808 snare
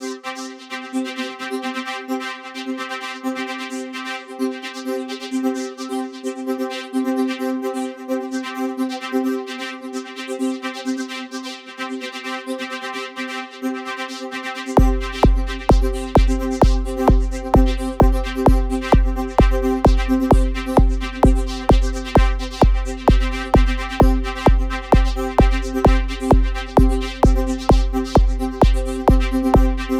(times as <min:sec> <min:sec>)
0:14.8 0:29.9